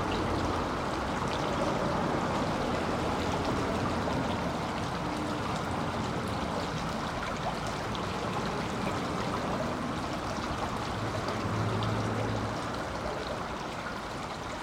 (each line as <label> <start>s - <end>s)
cars passing by 0.0s - 14.6s
river under the bridge 0.0s - 14.6s